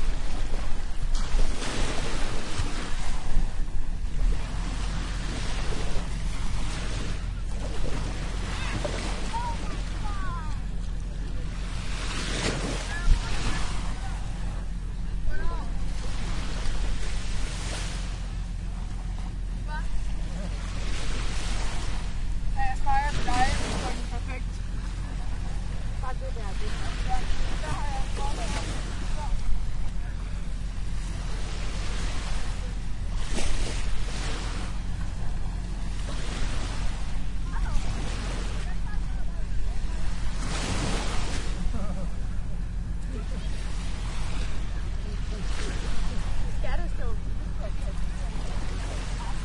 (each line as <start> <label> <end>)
0.0 waves 49.4
2.0 voices 49.4